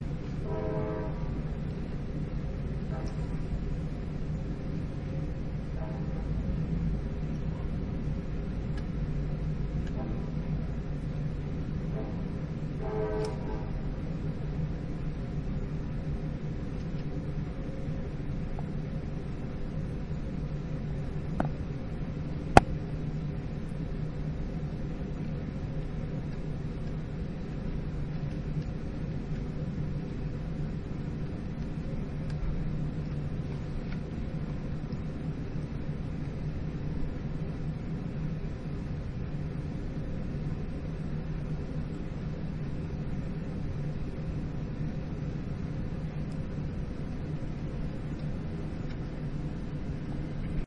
train passing by 0.0 - 23.4
horn 0.4 - 1.4
horn 12.8 - 13.7

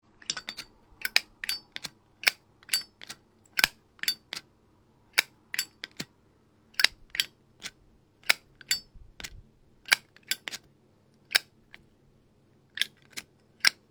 opening and striking a classic zippo lighter 0.5 - 4.4
opening and striking a classic zippo lighter 5.2 - 6.1
opening and striking a classic zippo lighter 6.8 - 9.3

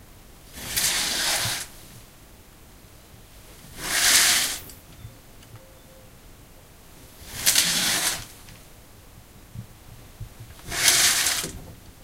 Curtains being opened and closed 0.6 - 1.7
Curtains being opened and closed 3.8 - 4.6
Curtains being opened and closed 7.3 - 8.3
Curtains being opened and closed 10.6 - 11.6

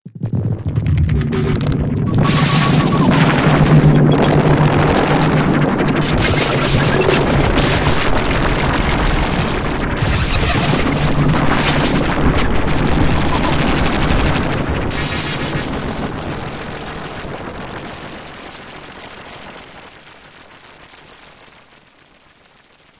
reverberated glitch sample with tail 0.1 - 17.8

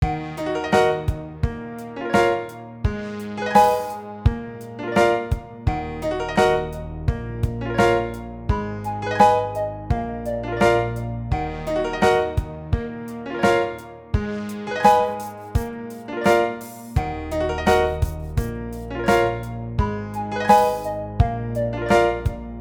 bass synth 0.0 - 22.6
piano 0.0 - 22.6
Snare 4.9 - 5.5
arpeggiated synth 5.2 - 12.8
Snare 7.5 - 8.3
Snare 13.3 - 14.0
arpeggiated synth 14.2 - 15.8
Snare 14.8 - 17.0
Snare 17.7 - 19.6
Snare 20.5 - 22.5

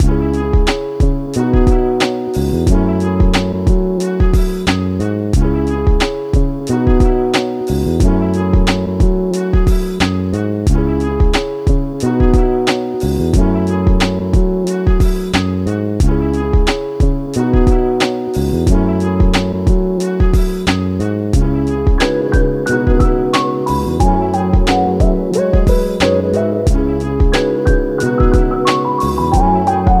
brass 0.0 - 30.0
percussion loop 0.0 - 30.0

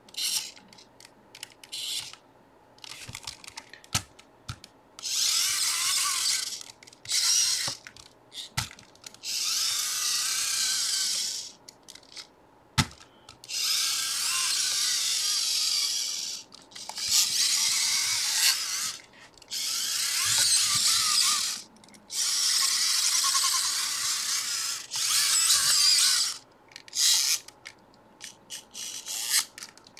Robot servo motors 0.2 - 0.6
Robot servo motors 5.0 - 8.6
Robot servo motors 9.2 - 12.2
Robot servo motors 13.5 - 27.5
Robot servo motors 28.2 - 29.5

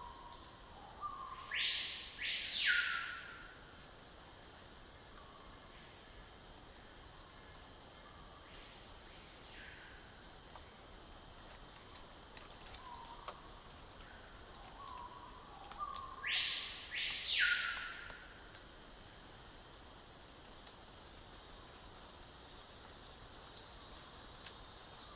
crickets 0.0 - 25.1

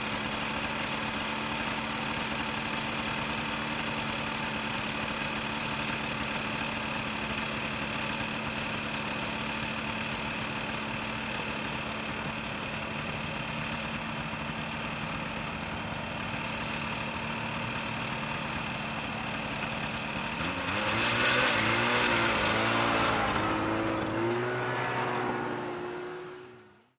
snowmobile idle and pull away slow rattly 0.0 - 26.9

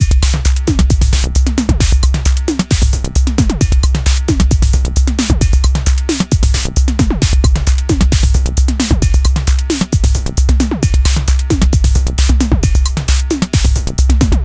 drumloop 0.0 - 14.4

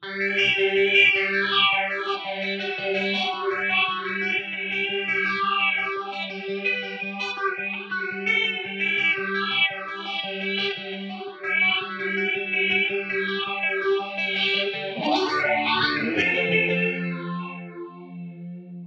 Psycho guitar sequence 12.0 - 18.8

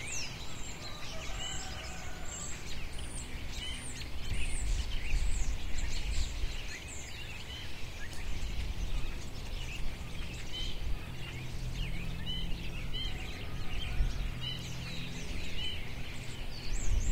helicopter going by overhead 0.0 - 5.6
birds chirping 0.0 - 17.1
helicopter going by overhead 7.8 - 17.1

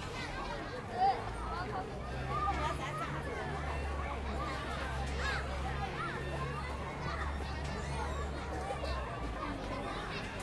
children 0.0 - 10.4

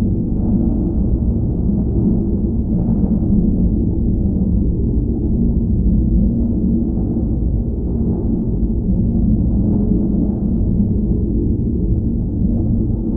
drone like background 0.0 - 13.1

